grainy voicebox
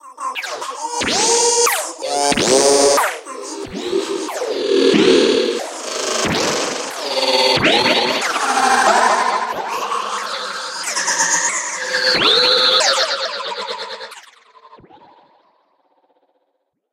0.0 11.4

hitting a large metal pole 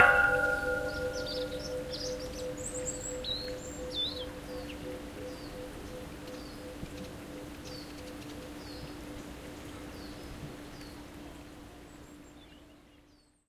0.0 1.6

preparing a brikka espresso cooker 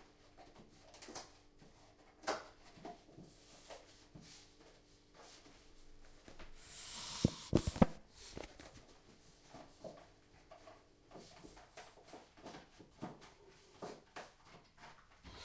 6.6 8.5

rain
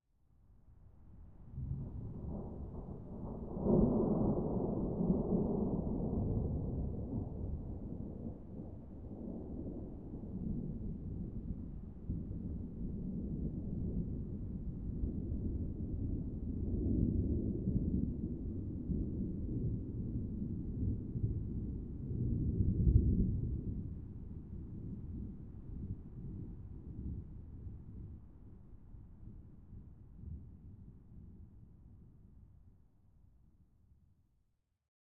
1.8 28.6

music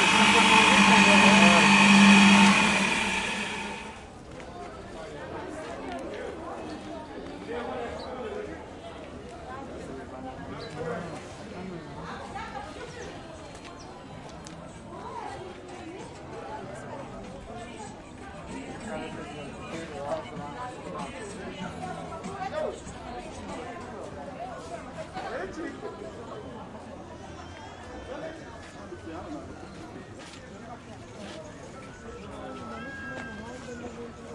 17.8 23.4

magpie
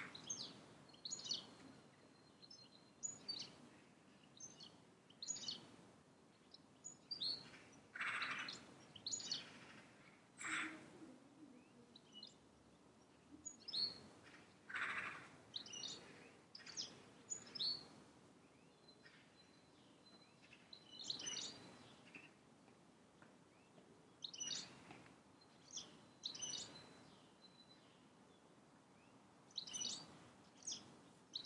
7.4 8.6, 9.2 10.9, 13.9 17.6

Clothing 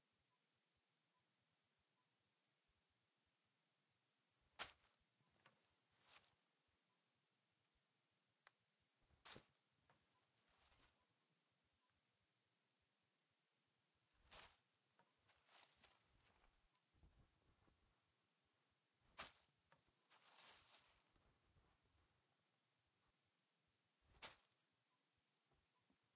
4.6 6.4, 9.1 11.2, 14.2 17.9, 19.0 22.0

